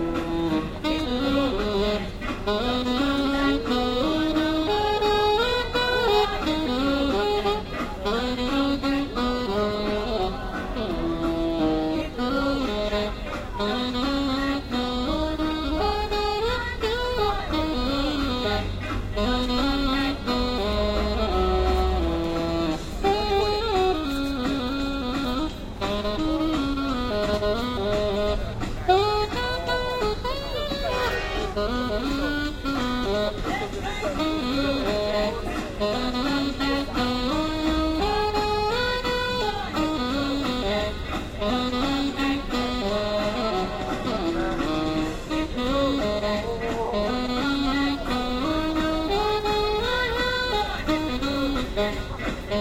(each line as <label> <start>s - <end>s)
Sax player plays mixture of hit songs 0.0s - 52.6s
crowd 30.6s - 31.6s